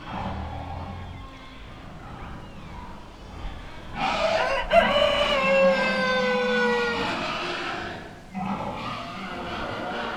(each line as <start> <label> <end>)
0.0 horribly howling farm animals 10.1